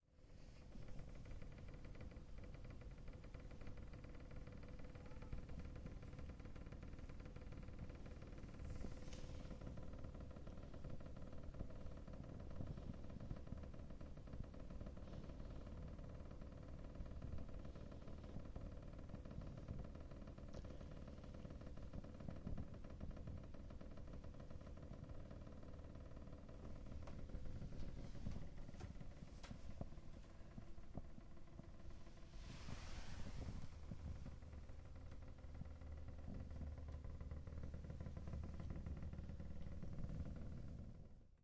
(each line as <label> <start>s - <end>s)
door to my room, which shakes slightly on its hinges 0.0s - 41.3s